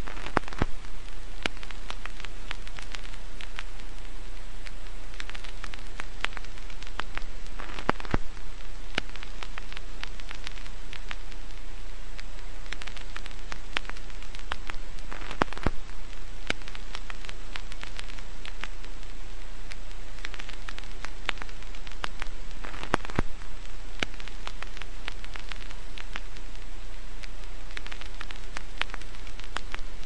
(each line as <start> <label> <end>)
0.0 vinyl noise crackling 30.0